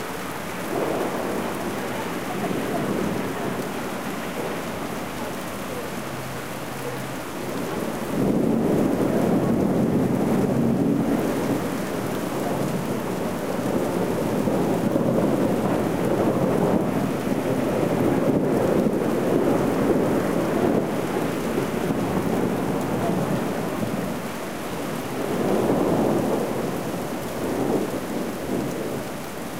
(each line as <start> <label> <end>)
0.0 rain 29.5
8.1 thunder 24.1